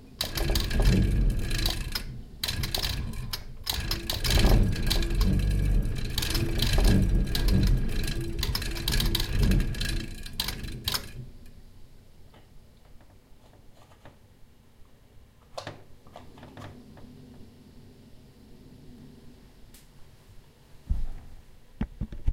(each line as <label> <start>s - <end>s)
Refreg broken 0.2s - 11.4s